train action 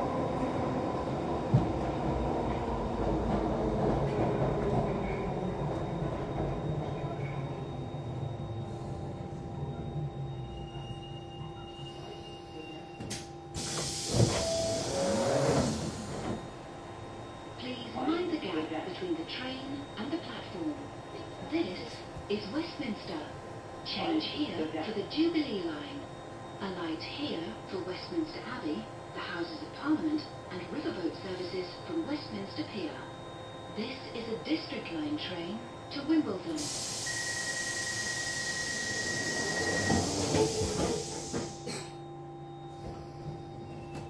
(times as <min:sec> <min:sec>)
0:13.0 0:16.5, 0:36.6 0:41.9